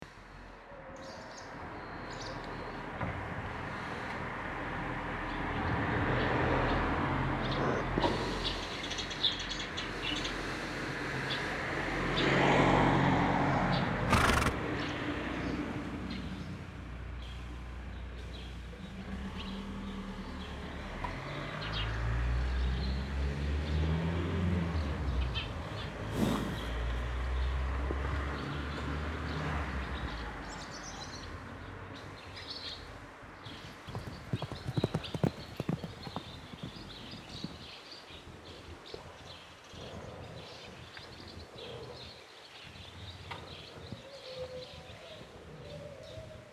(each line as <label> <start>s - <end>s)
bus passing by 2.6s - 31.9s
horse breathing and running in a paddock 13.8s - 14.8s
horse breathing and running in a paddock 24.5s - 28.4s
horse breathing and running in a paddock 33.4s - 39.1s
bus passing by 33.6s - 37.8s